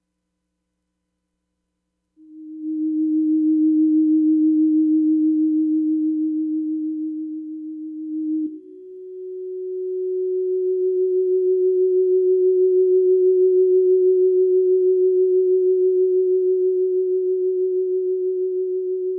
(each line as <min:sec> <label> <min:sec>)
0:02.2 Theremin swells 0:19.1